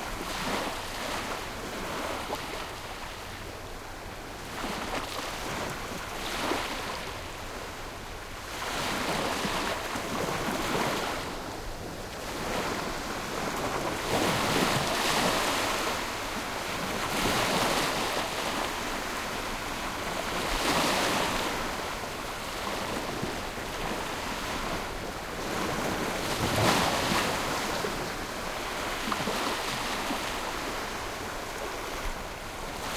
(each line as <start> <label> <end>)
0.0 Calm sea waves 32.9